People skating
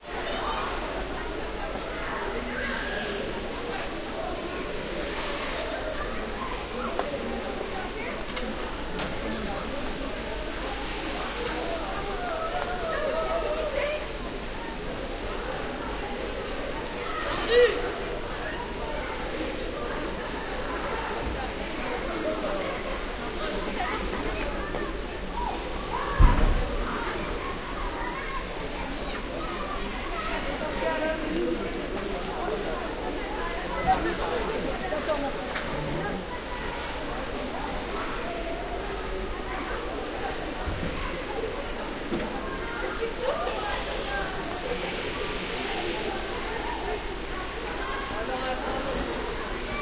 0:11.4 0:14.2

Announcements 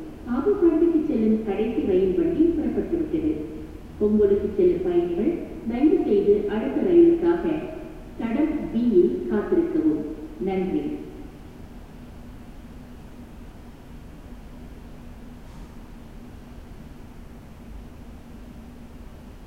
0:00.1 0:11.4

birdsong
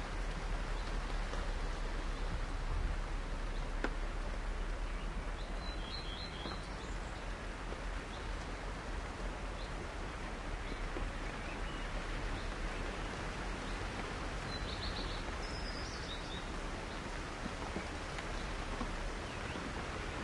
0:04.4 0:08.6, 0:09.4 0:20.2

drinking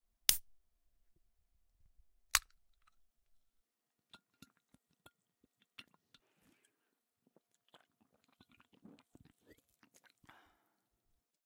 0:04.2 0:10.7

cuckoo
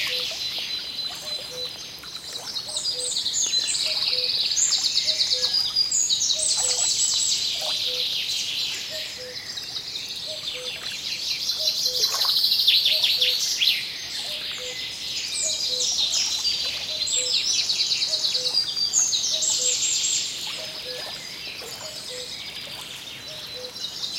0:00.0 0:00.4, 0:01.1 0:01.8, 0:05.1 0:05.6, 0:10.3 0:10.8, 0:14.2 0:14.8, 0:21.8 0:22.3, 0:23.3 0:23.8

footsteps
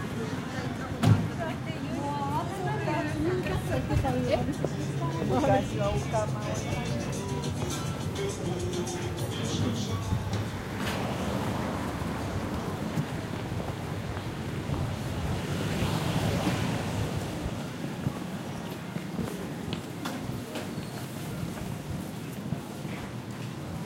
0:07.4 0:15.2

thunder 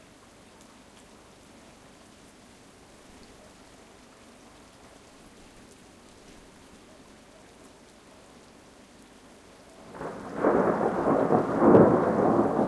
0:09.9 0:12.6

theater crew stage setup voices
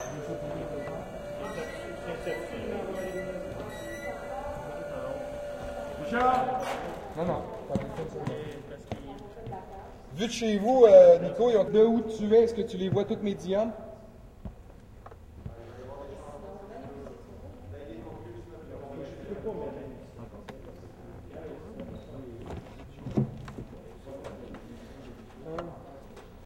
0:00.0 0:14.4

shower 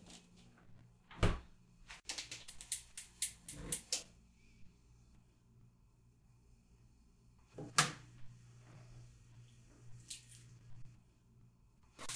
0:10.0 0:10.5

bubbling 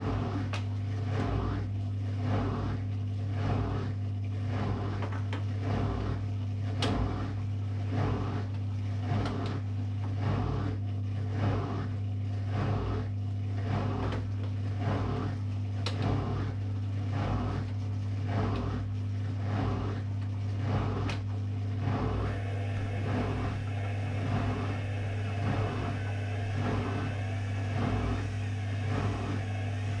0:22.2 0:30.0

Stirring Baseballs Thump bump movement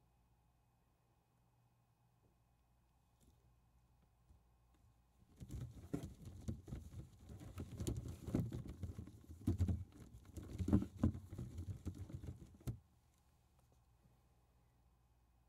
0:05.3 0:12.8

